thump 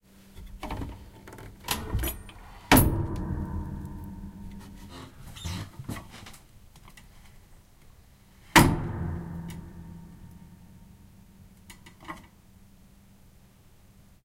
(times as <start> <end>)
2.7 4.9, 8.5 9.4